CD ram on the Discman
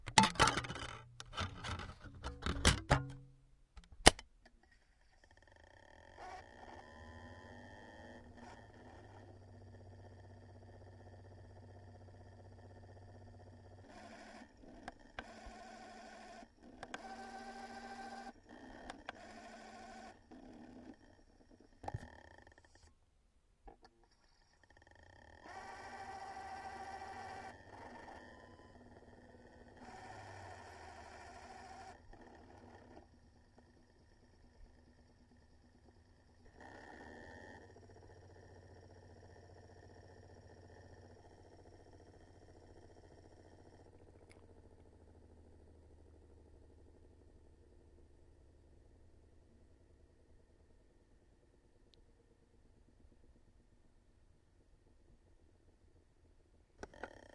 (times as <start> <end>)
0.0 4.2, 13.6 22.3, 25.3 33.8